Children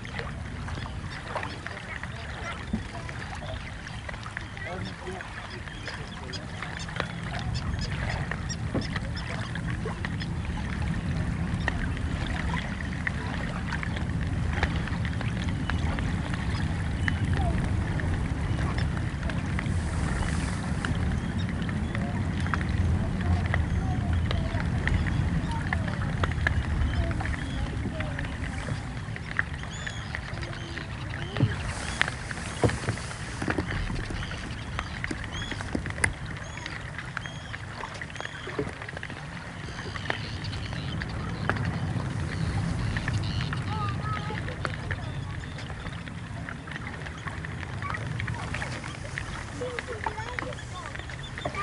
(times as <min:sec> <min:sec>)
0:15.5 0:51.6